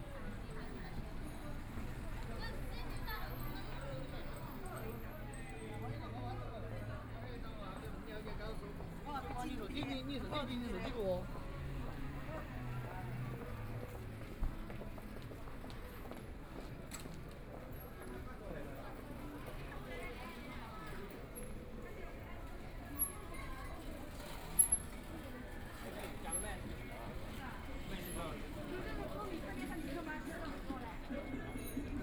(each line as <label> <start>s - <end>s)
Walking through the Street 0.0s - 32.0s
Traffic Sound 8.1s - 17.4s